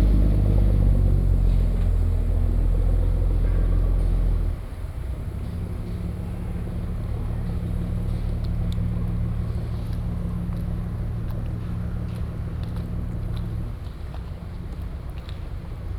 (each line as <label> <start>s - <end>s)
Fishing boats 0.0s - 15.9s